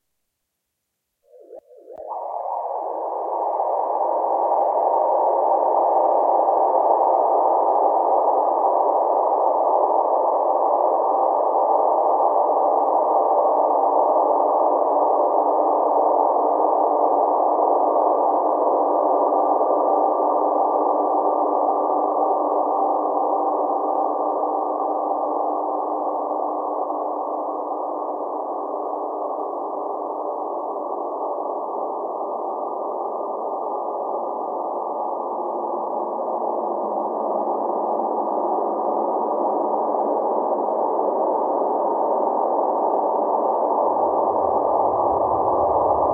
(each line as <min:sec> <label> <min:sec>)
0:40.0 drone 0:46.1